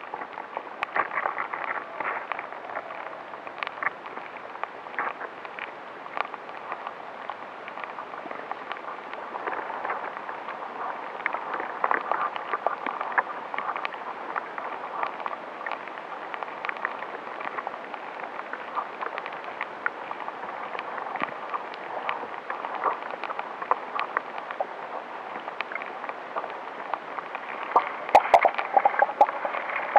22.5s bubbles 29.9s

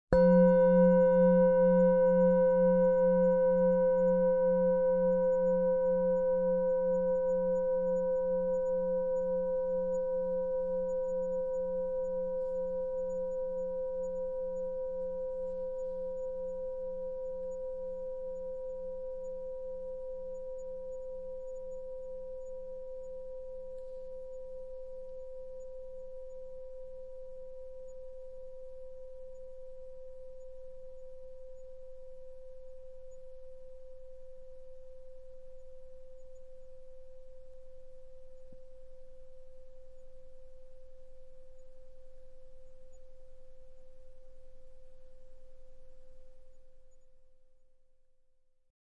0.2s singing bowl - single strike 6.9s

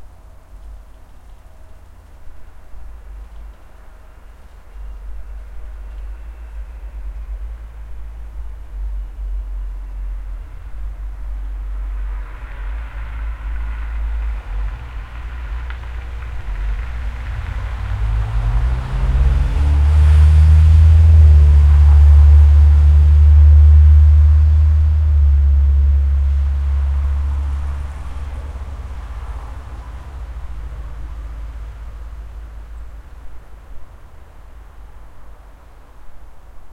0.0s cars 36.7s

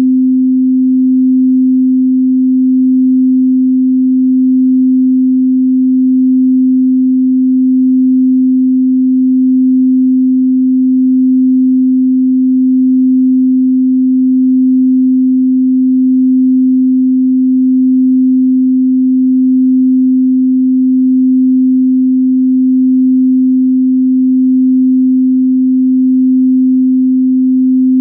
0.0s Pure Sine Wave 28.0s

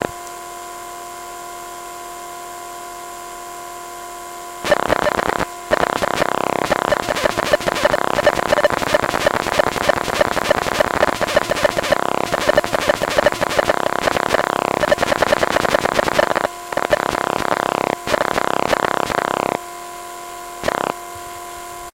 4.1s buzz 21.9s
4.7s bleep 19.4s

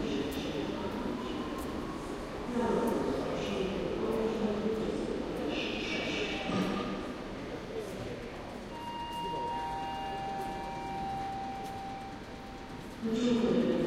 0.0s trains 13.8s

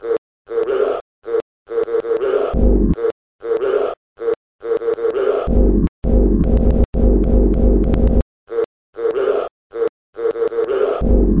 0.5s growl 5.7s
8.5s growl 11.4s

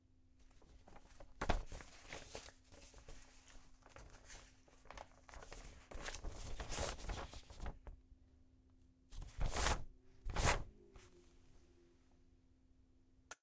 0.4s Flipping through a comic book 8.0s
9.2s Flipping through a comic book 10.7s

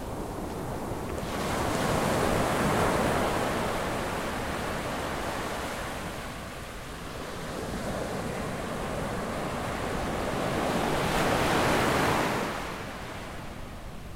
0.0s waves 14.1s

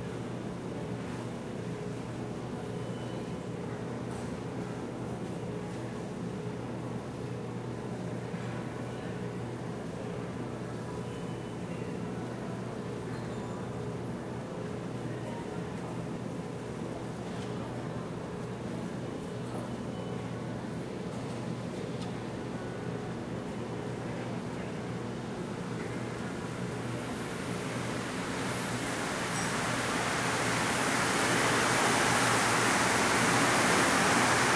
0.0s metro 34.5s

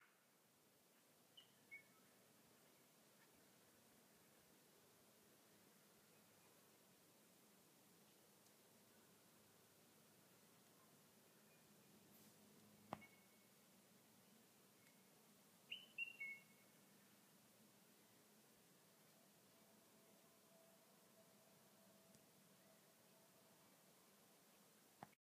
1.4s bird tweets and chirps 3.4s
12.9s bird tweets and chirps 13.5s
15.7s bird tweets and chirps 16.8s

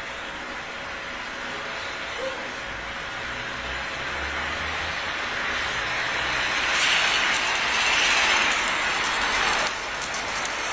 0.0s buzzing of the generator 10.7s
0.0s passing by cars 10.7s
5.4s welding 10.7s

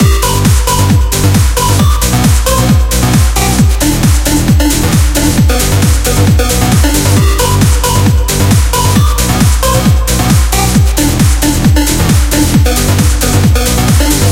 0.0s modern sounding dance music 14.3s

